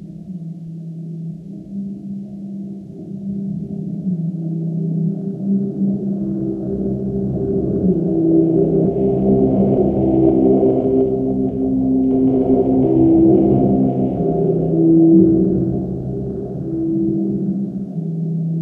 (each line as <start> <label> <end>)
0.0 music 18.6